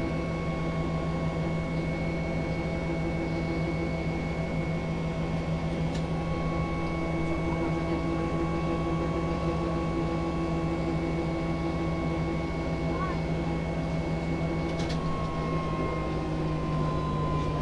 trolleybus ride 0:12.1 - 0:17.6

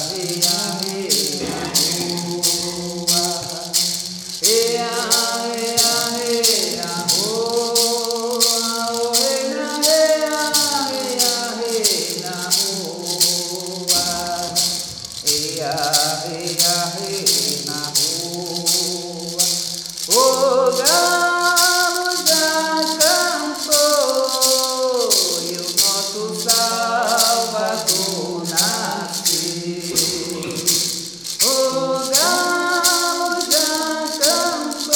Der Rasseln, der Maracá, im Hintergrund 0:00.0 - 0:34.9
performs a traditional prayer 0:00.0 - 0:34.9
adds a prayer to Holy Mary in Latin 0:30.1 - 0:30.8

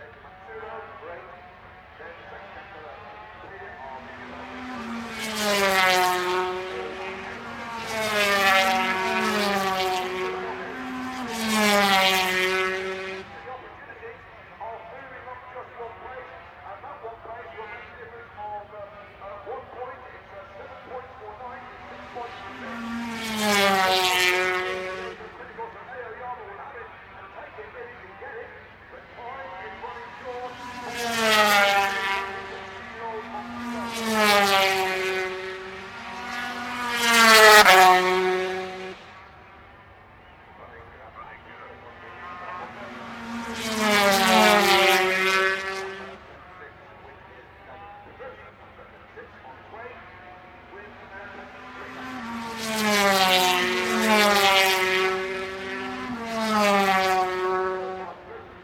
250 race 0:00.0 - 0:58.6
commentary 0:00.0 - 0:58.6

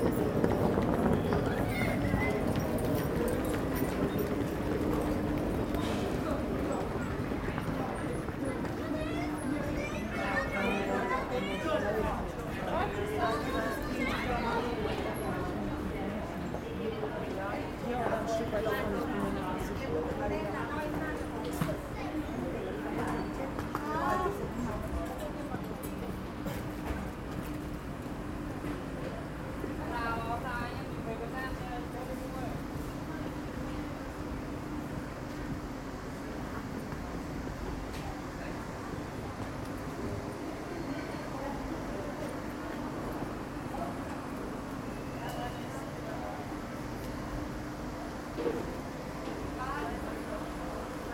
railroad traffic 0:00.0 - 0:51.1

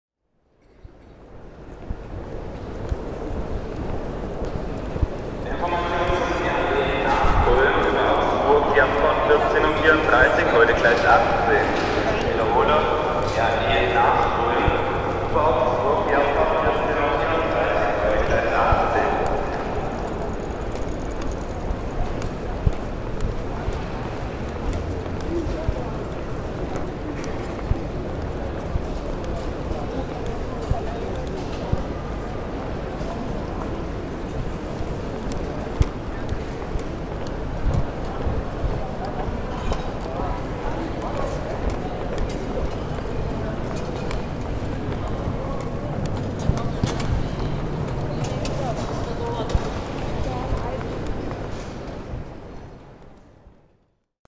train 0:00.5 - 0:36.7

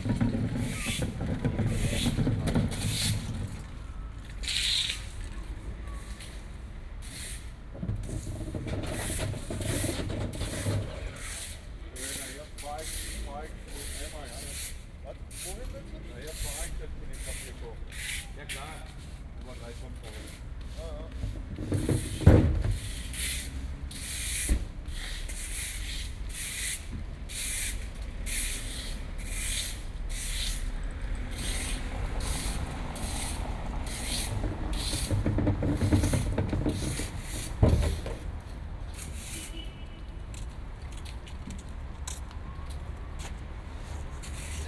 cleanup after market 0:00.0 - 0:44.6

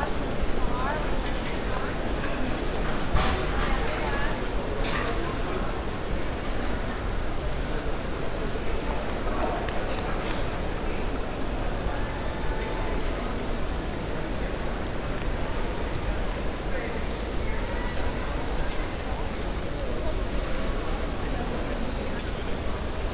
people passing by and talking in different languages 0:00.0 - 0:23.1

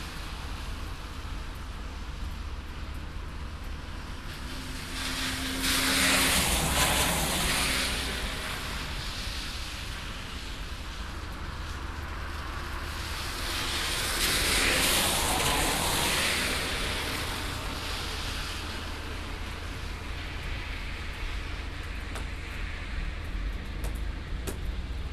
Rainy Sepa street 0:00.0 - 0:25.1

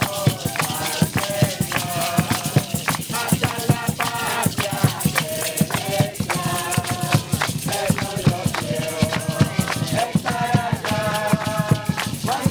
Youth with a mission singing 0:00.0 - 0:12.5

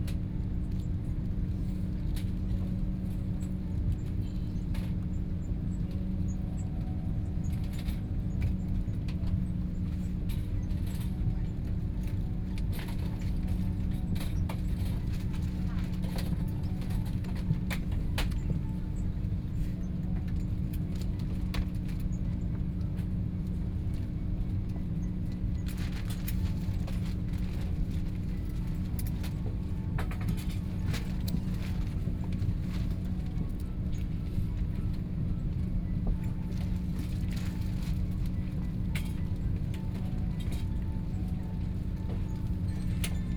Aircraft interior voice broadcast message 0:00.1 - 0:43.3

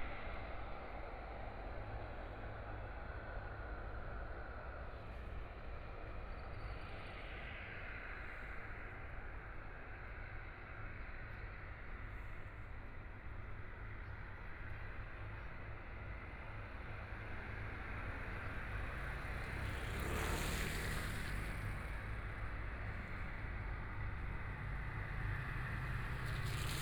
Traffic Sound 0:16.0 - 0:26.8
Aircraft flying through 0:17.2 - 0:23.3
Aircraft flying through 0:25.3 - 0:26.8

